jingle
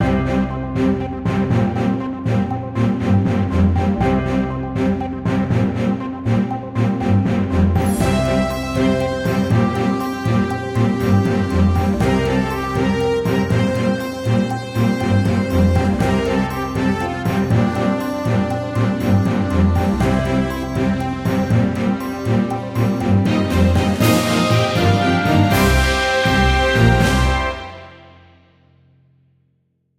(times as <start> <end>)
7.8 28.1